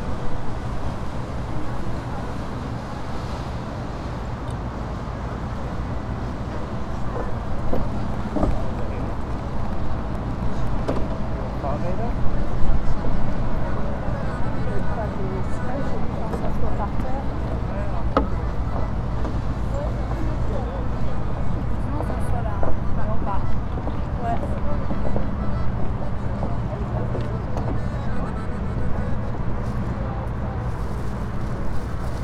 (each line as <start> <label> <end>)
0.0 tourists 32.2
0.0 water 32.2